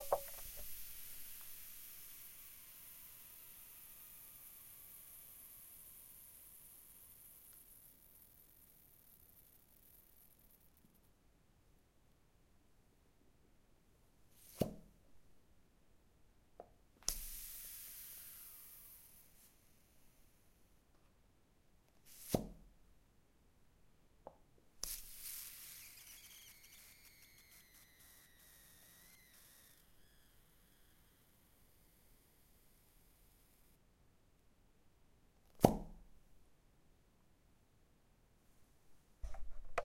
0.0s Plunger Pop 0.9s
0.0s squirt 1.9s
0.0s suction 8.9s
17.0s suction 20.3s
24.8s squirt 31.3s
24.8s suction 33.0s
35.5s Plunger Pop 36.1s

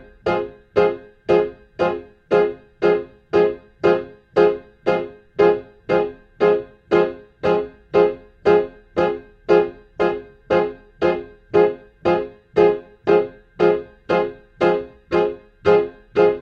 0.0s PIANO 16.4s

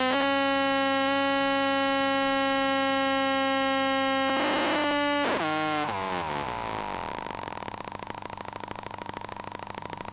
4.3s sucession of individual clicks (pulses) 10.1s

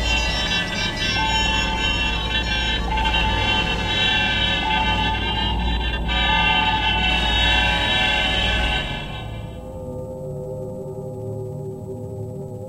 0.0s synth 10.6s

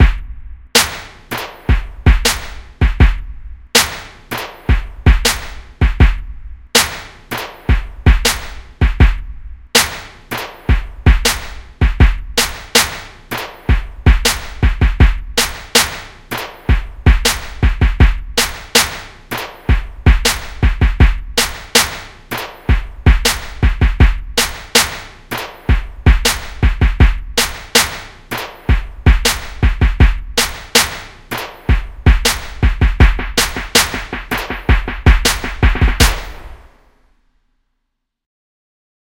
0.0s Snare 3.2s
0.0s Kick Drum 36.6s
0.0s Hi Hats 36.8s
0.8s Aggressive Clap 2.7s
3.8s Aggressive Clap 5.7s
3.8s Snare 6.2s
6.8s Aggressive Clap 8.7s
6.8s Snare 9.2s
9.8s Aggressive Clap 11.7s
9.8s Snare 36.9s
12.4s Aggressive Clap 14.7s
15.4s Aggressive Clap 17.7s
18.4s Aggressive Clap 20.7s
21.4s Aggressive Clap 36.7s

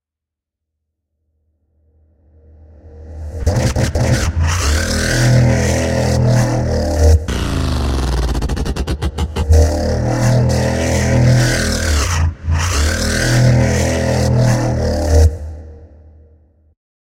3.4s megatron growl 15.9s

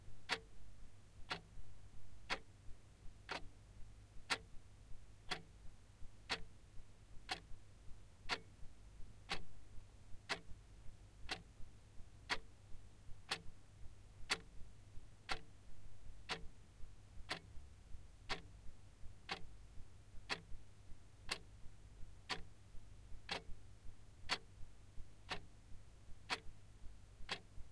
0.2s wall clock 0.5s
1.2s wall clock 1.6s
2.2s wall clock 2.5s
3.2s wall clock 3.6s
4.2s wall clock 4.5s
5.2s wall clock 5.6s
6.2s wall clock 6.6s
7.2s wall clock 7.6s
8.2s wall clock 8.6s
9.2s wall clock 9.5s
10.2s wall clock 10.6s
11.2s wall clock 11.6s
12.2s wall clock 12.6s
13.2s wall clock 13.6s
14.2s wall clock 15.6s
16.2s wall clock 27.7s

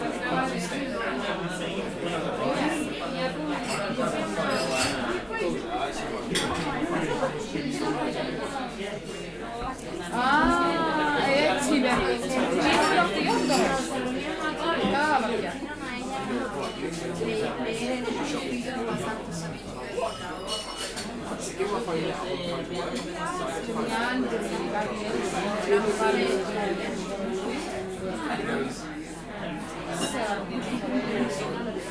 0.0s Chatter 31.9s
20.0s glass 21.0s

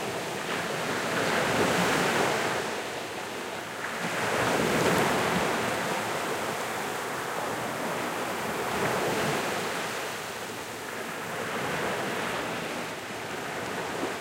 0.0s waves and foams 14.2s

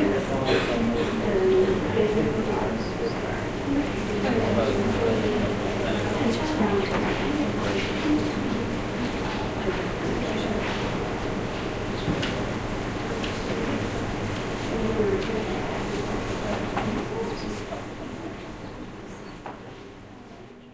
0.0s voices 20.7s
0.0s noise there is from heating and extraction systems 20.7s

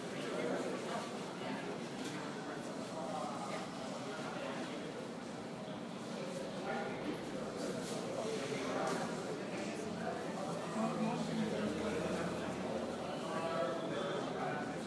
0.0s people talking 14.8s

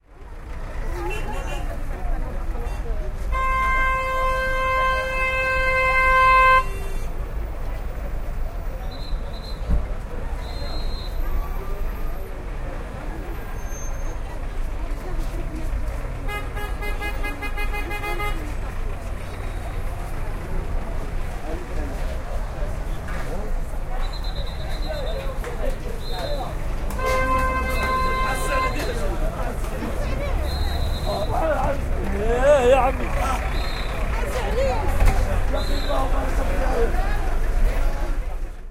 0.0s traffic 38.7s
8.6s police make sound their whistles 12.3s
23.9s police make sound their whistles 29.0s
30.1s police make sound their whistles 31.6s
33.4s police make sound their whistles 34.4s
35.5s police make sound their whistles 36.2s

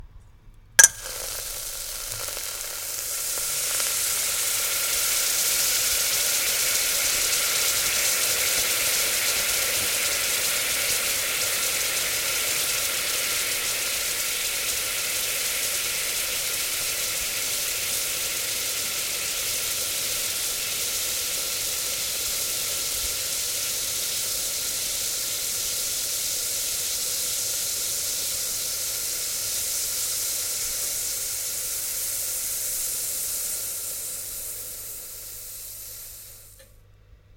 0.8s Water evaporating once dropped onto a hot pan 9.1s

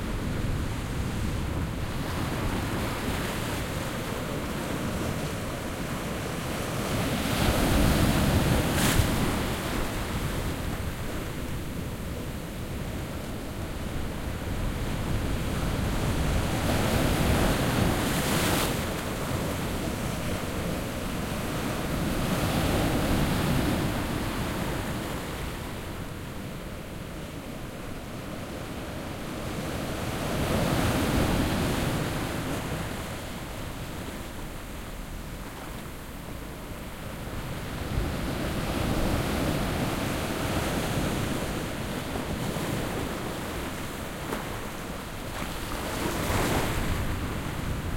0.0s quiet to moderate waves on sand and rock beach 47.9s

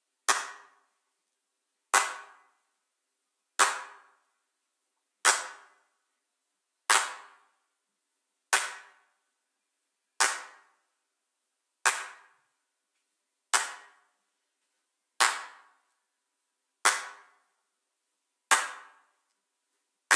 0.3s handclap 0.8s
1.9s handclap 2.4s
3.6s handclap 4.1s
5.2s handclap 5.8s
6.9s handclap 7.5s
8.5s handclap 9.0s
10.2s handclap 10.8s
11.8s handclap 12.4s
13.5s handclap 14.0s
15.2s handclap 15.9s
16.8s handclap 17.4s
18.5s handclap 19.0s

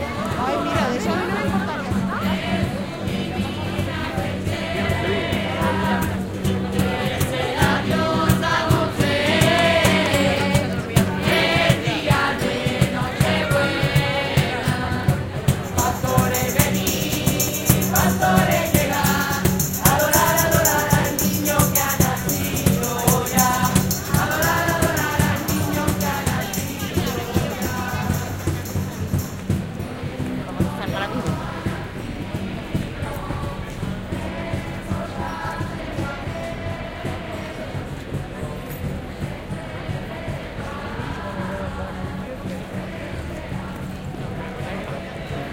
0.0s Voices of people passing 45.5s
0.0s amateur chorus in a street performance sings 45.5s

